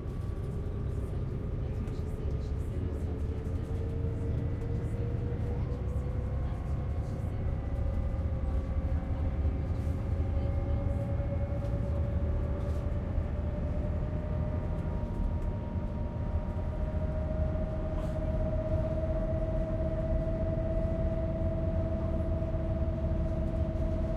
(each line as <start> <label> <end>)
0.0 diesel bus on the freeway 24.1
0.0 passengers 24.1